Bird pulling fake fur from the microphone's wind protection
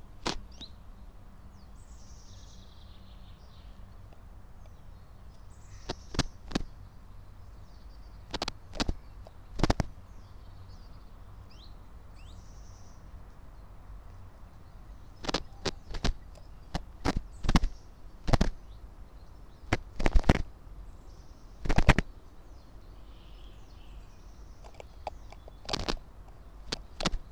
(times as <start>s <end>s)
5.8s 6.7s, 8.3s 9.9s, 15.1s 18.6s, 19.6s 20.5s, 21.6s 22.1s, 24.5s 27.3s